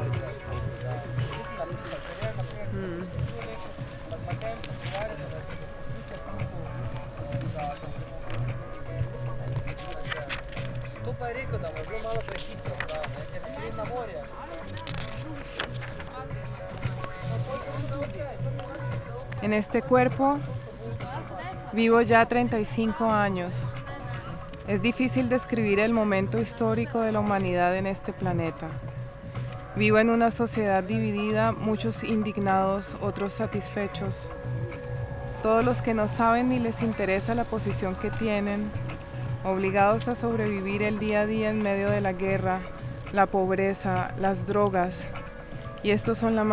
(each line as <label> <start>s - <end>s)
improvised reading of texts against heroism 0.0s - 46.5s